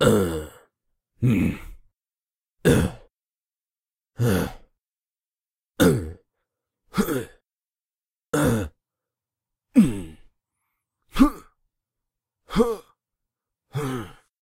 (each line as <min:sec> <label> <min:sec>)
0:00.0 human grunts 0:01.8
0:02.6 human grunts 0:03.1
0:04.2 human grunts 0:04.7
0:05.8 human grunts 0:06.2
0:06.9 human grunts 0:07.4
0:08.3 human grunts 0:08.8
0:09.7 human grunts 0:10.3
0:11.1 human grunts 0:11.6
0:12.5 human grunts 0:13.0
0:13.7 human grunts 0:14.3